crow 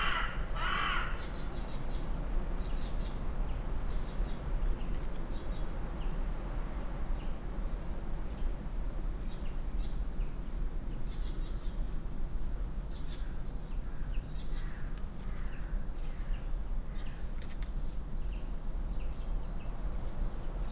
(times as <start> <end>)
0.0 1.4, 13.9 16.3